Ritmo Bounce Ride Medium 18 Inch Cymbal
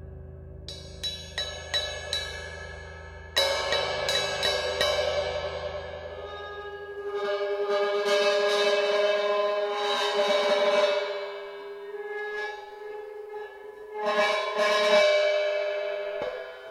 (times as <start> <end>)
0.0 7.1